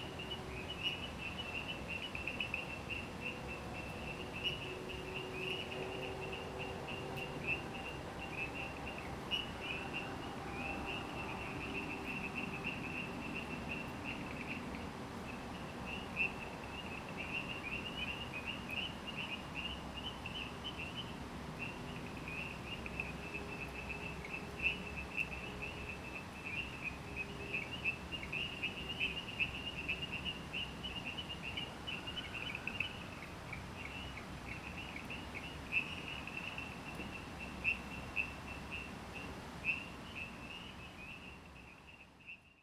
0.2s Frogs chirping 42.6s

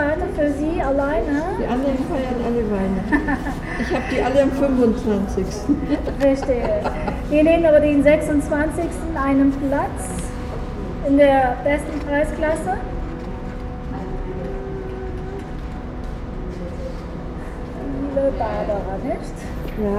0.0s amplified voice of the ticket agent 13.0s
0.0s voices of customers and other guests 19.9s
17.8s amplified voice of the ticket agent 19.9s

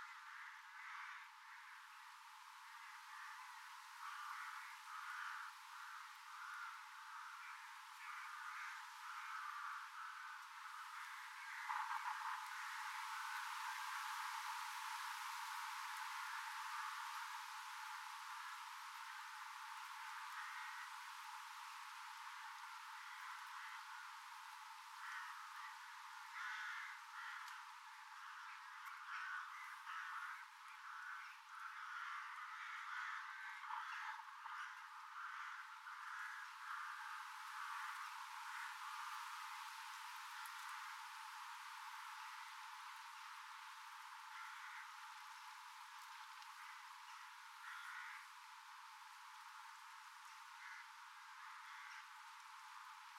0.0s Crows nesting 43.4s
44.0s Crows nesting 52.9s

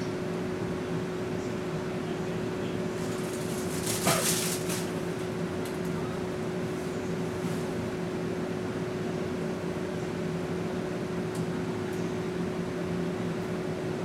0.0s Bus 14.0s
0.0s air vconditionning in the small electric bus 14.0s

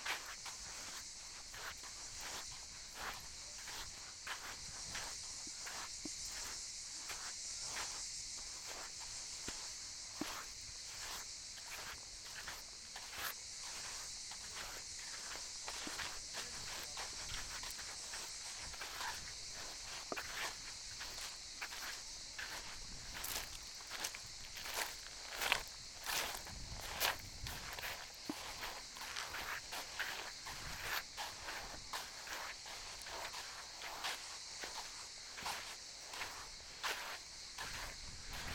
0.0s walking to the sea shore 38.5s

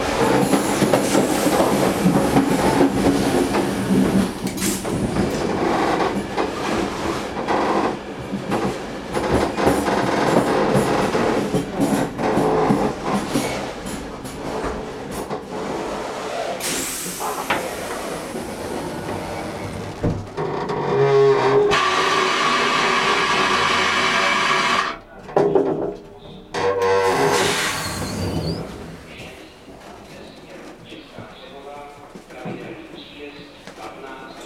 0.0s train rattles less and less on the rails 20.8s

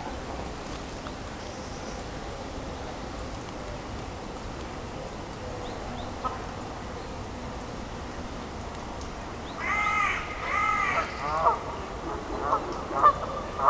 9.6s Cormorants 13.6s
9.6s Canada goose 13.6s

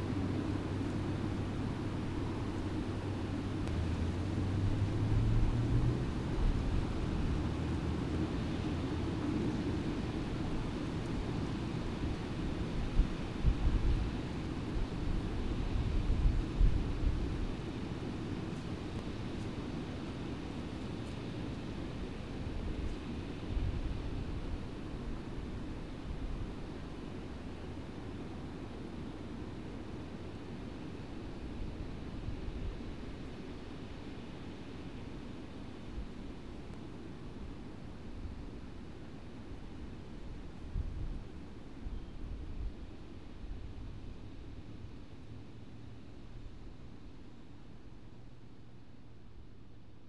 0.0s guided tour boat coming through the lock 5.0s
0.0s trucks 12.8s
0.0s distant roar of the lock spillway and fish ladder 50.0s

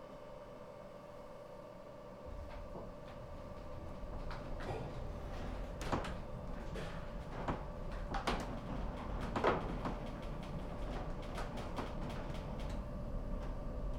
2.3s cable car driving down-hill 13.9s

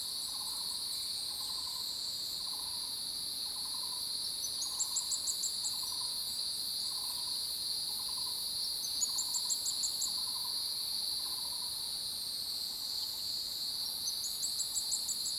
0.1s Cicada sounds 12.1s

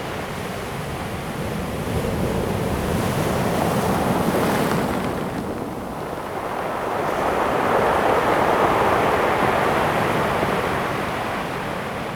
6.2s waves 12.1s

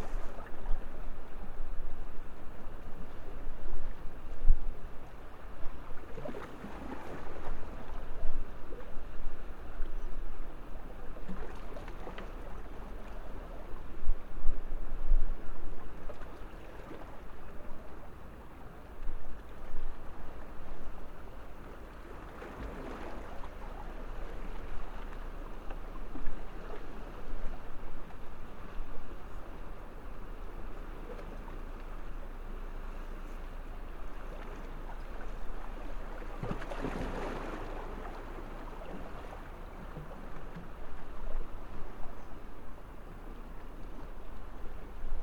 0.0s sea-water 45.2s

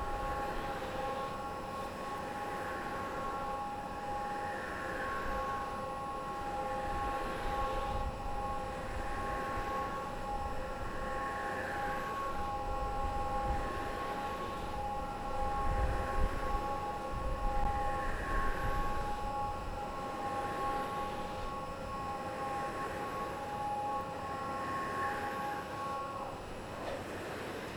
0.0s Wind Machine 27.7s

